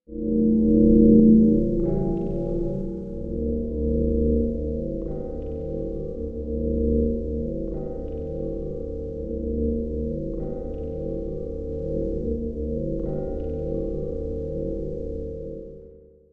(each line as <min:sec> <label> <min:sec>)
0:00.1 deep pad sounds based on mallet sounds 0:15.2